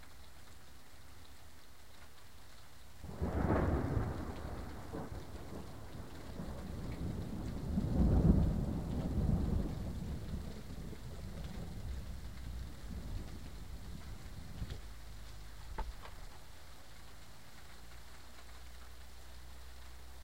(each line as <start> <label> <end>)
3.1 thunder 16.4